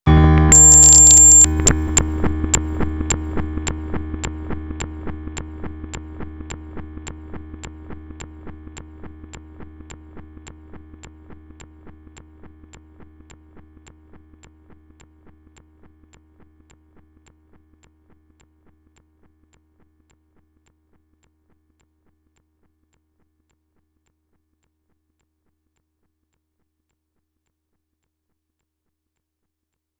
0.4s Broken Yamaha electric piano with tone E going crazy glitching 2.2s

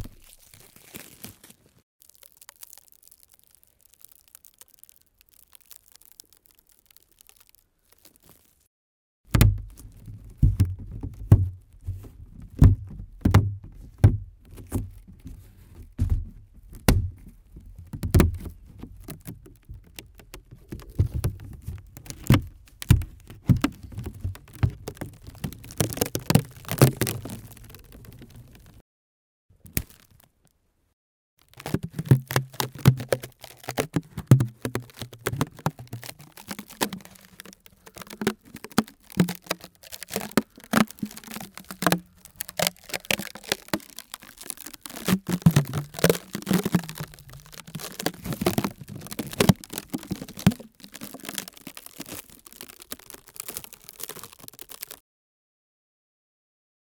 0.0s cellophane 8.7s
9.3s cellophane 28.8s
29.6s cellophane 30.4s
31.4s cellophane 55.0s

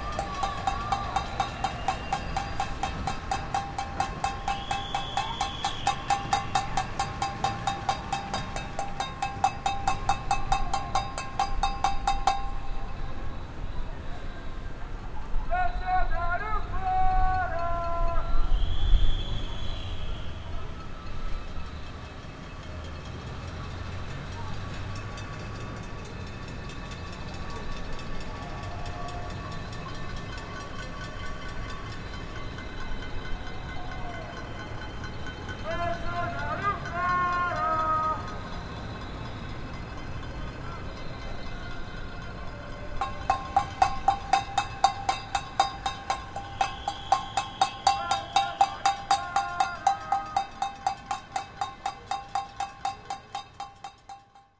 0.0s scream at the windows of their apartments 6.8s
0.0s people bang pans 12.8s
13.2s scream at the windows of their apartments 21.9s
43.0s people bang pans 54.4s

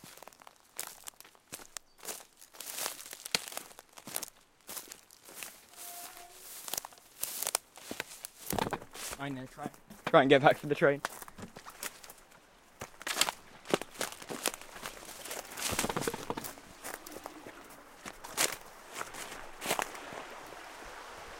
0.0s Footsteps on Dry Leaves, Grass, and Tarmac 20.9s
0.0s stream 21.3s

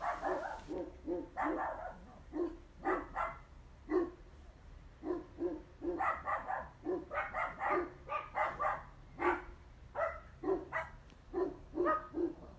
0.0s Dogs barking at eachother 4.2s
5.0s Dogs barking at eachother 12.5s

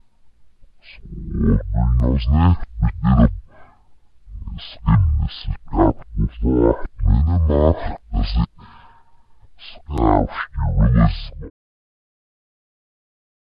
0.8s Low pitch and slowed down human voice 3.6s
4.3s Low pitch and slowed down human voice 8.6s
9.6s Low pitch and slowed down human voice 11.5s

